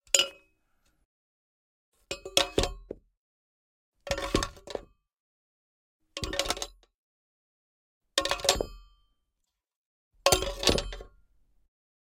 Dropping random solid metal objects 0:08.2 - 0:08.9
Dropping random solid metal objects 0:10.3 - 0:11.2

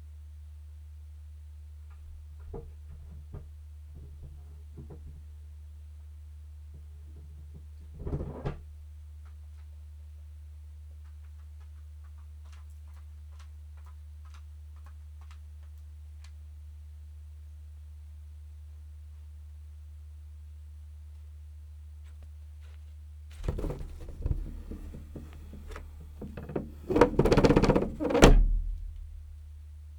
cat flap 0:23.4 - 0:29.2

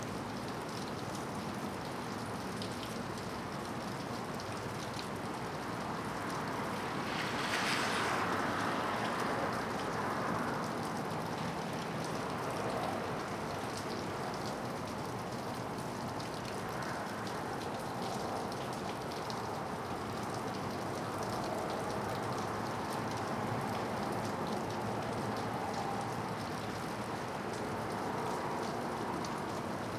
rain 0:00.0 - 0:29.9
light traffic 0:00.0 - 0:29.9

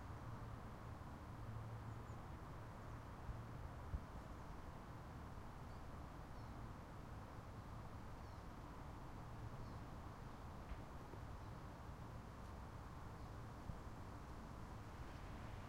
roadhumm 0:00.0 - 0:15.6

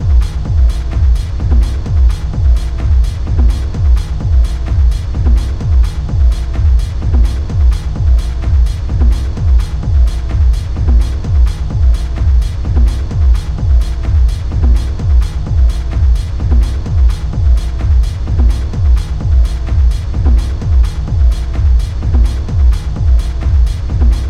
Techno 0:00.0 - 0:24.2

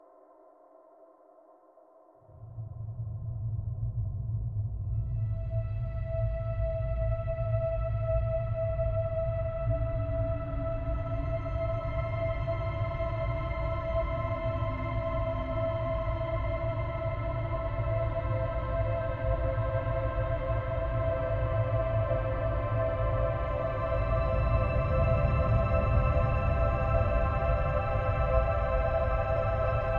Choir 0:05.2 - 0:29.9

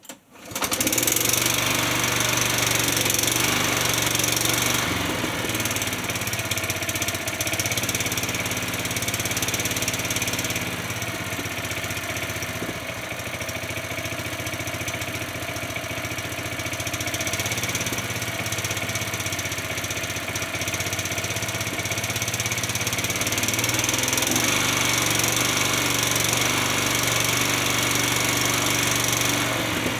Small OHV motor starting and holding varying RPMs 0:00.4 - 0:29.9

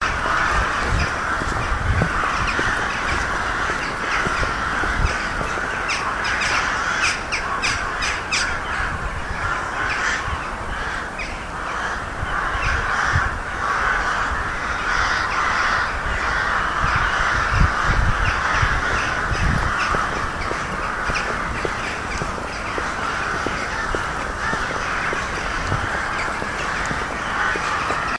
Rooks 0:00.0 - 0:07.8
magpie 0:00.0 - 0:08.7
Crow call 0:00.0 - 0:28.1
magpie 0:09.4 - 0:28.1
Rooks 0:13.7 - 0:28.1

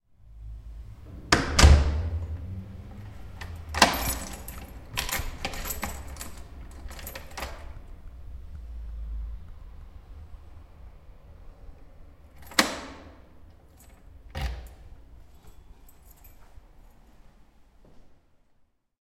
closing my front door 0:01.1 - 0:07.8
keys 0:01.3 - 0:08.2
keys 0:12.2 - 0:17.2

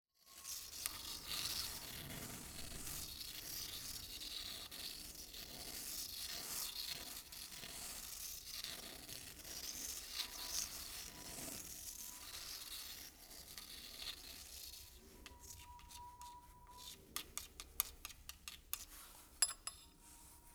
shells and quartz crystals delicately scraping marble 0:00.2 - 0:20.5
tapping ceramic plate 0:15.3 - 0:20.0

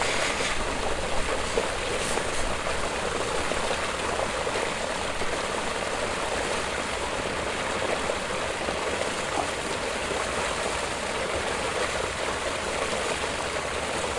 Gurgle of pour out water into lake 0:00.0 - 0:14.1

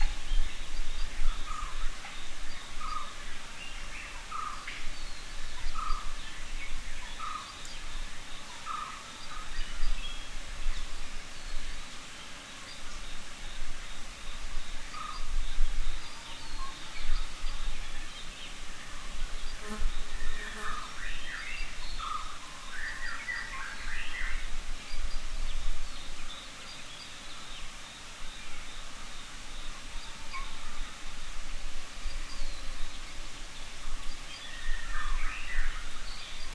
Birds 0:00.0 - 0:36.5
fly buzzes close to the mic 0:19.0 - 0:21.0

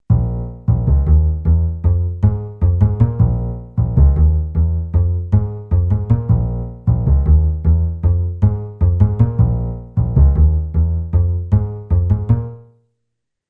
acoustic bass 0:00.0 - 0:12.7

